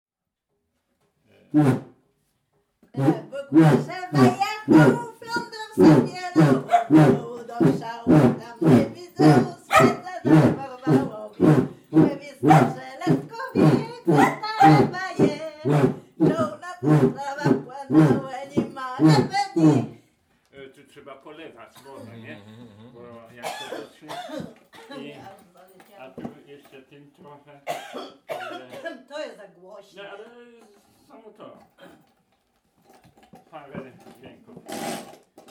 Burczybasy, old Kashubian instrument 0:02.8 - 0:20.0

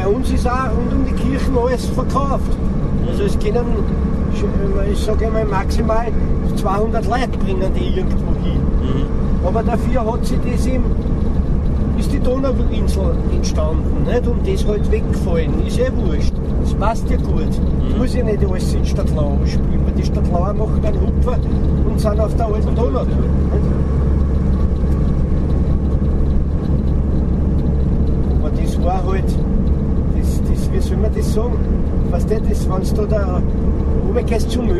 talking about the gradual decay 0:00.0 - 0:10.9
talking about the gradual decay 0:12.0 - 0:23.8

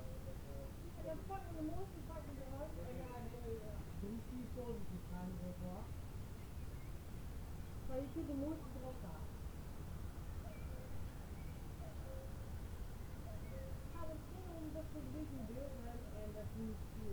cuckoo in the distance 0:10.4 - 0:16.1

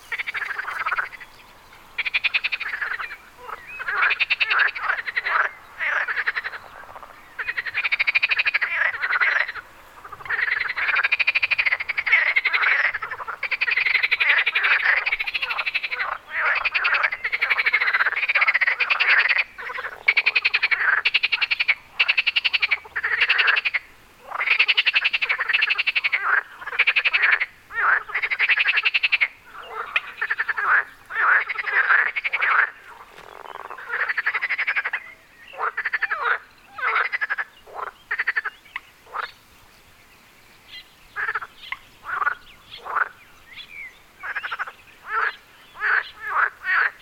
Frogs 0:00.0 - 0:39.6
Frogs 0:40.7 - 0:47.0

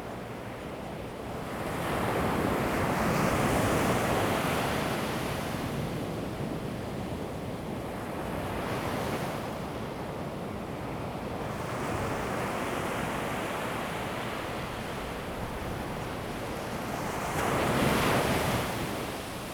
waves 0:08.1 - 0:19.5

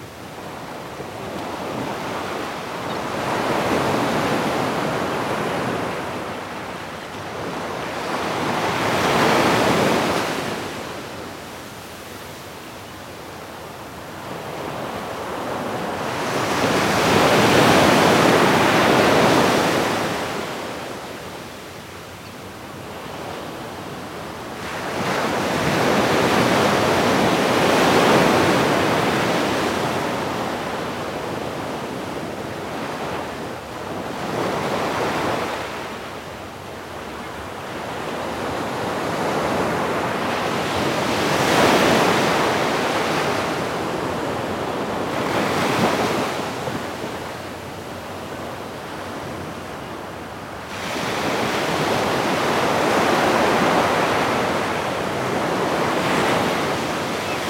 Sea waves 0:13.4 - 0:21.5
Sea waves 0:22.7 - 0:57.4

